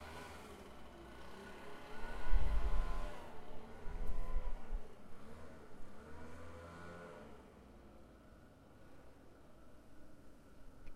Leaf blower in the distance 0:00.0 - 0:08.0

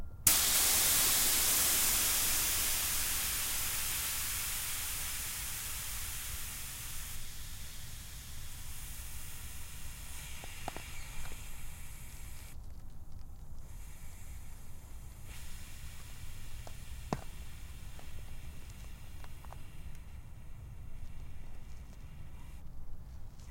Releasing an air valve on a bycicle 0:00.3 - 0:12.6
Releasing an air valve on a bycicle 0:13.6 - 0:22.7

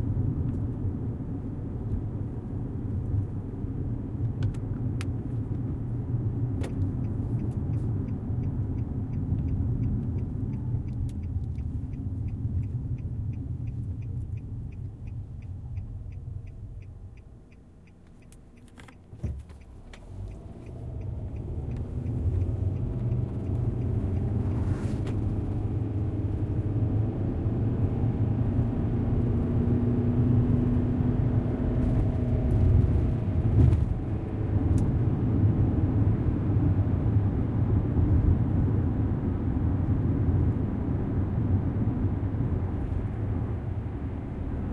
car interior during first portion of a trip 0:00.0 - 0:44.7
Turn signal 0:00.1 - 0:29.7

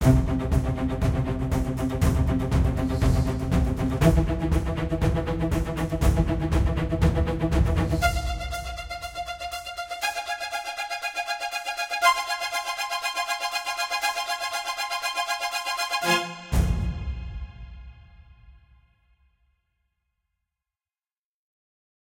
Drums 0:00.0 - 0:09.2
Strings 0:00.0 - 0:18.4
Drums 0:16.5 - 0:18.6

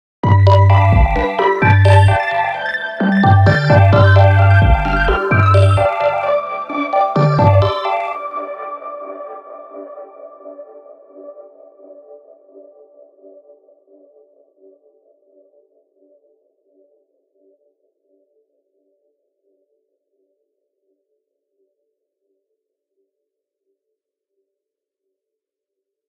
synth 0:00.2 - 0:13.3

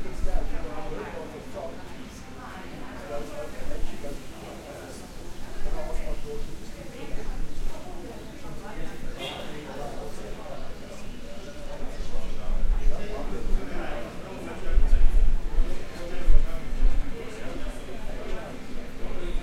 Crowd can be heard talking 0:00.0 - 0:19.4

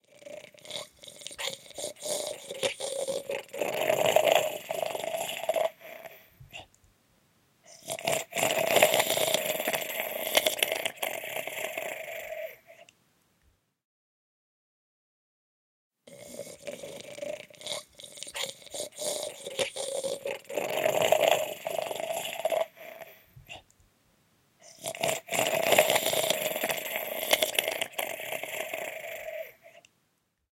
voice 0:02.0 - 0:05.6

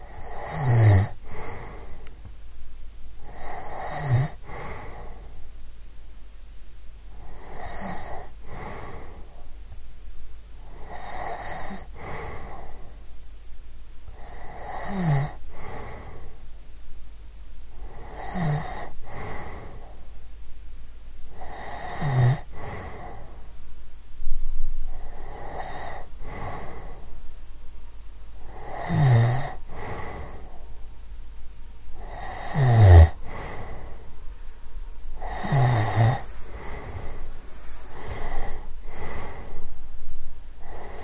snoring of a woman 0:00.0 - 0:02.0
snoring of a woman 0:03.2 - 0:05.2
snoring of a woman 0:07.2 - 0:09.2
snoring of a woman 0:10.7 - 0:12.9
snoring of a woman 0:14.1 - 0:16.4
snoring of a woman 0:17.8 - 0:19.9
snoring of a woman 0:21.3 - 0:23.3
snoring of a woman 0:24.9 - 0:27.0
snoring of a woman 0:28.4 - 0:30.5
snoring of a woman 0:32.0 - 0:34.0
snoring of a woman 0:35.2 - 0:37.2
snoring of a woman 0:37.9 - 0:39.7
snoring of a woman 0:40.6 - 0:41.0

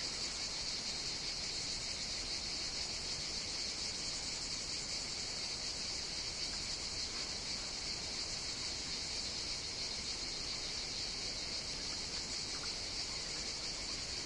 Cicadas 0:00.0 - 0:14.2

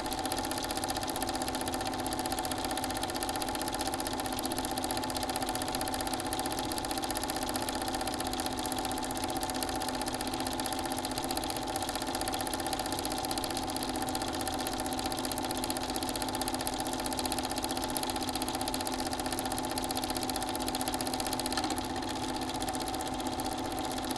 movie projector 0:00.0 - 0:24.1

